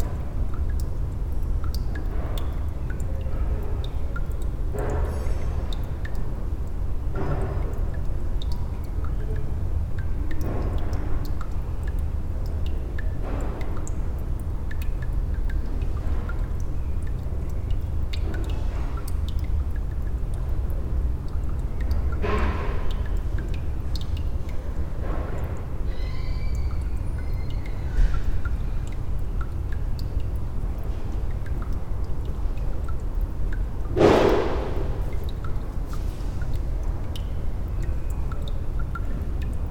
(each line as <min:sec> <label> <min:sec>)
0:00.0 dripping tap 0:39.7